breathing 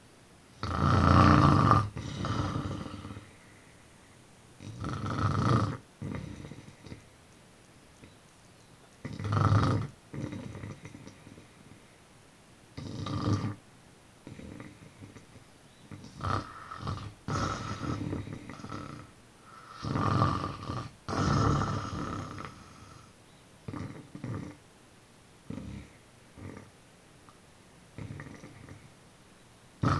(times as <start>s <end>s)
2.0s 4.3s, 19.4s 19.9s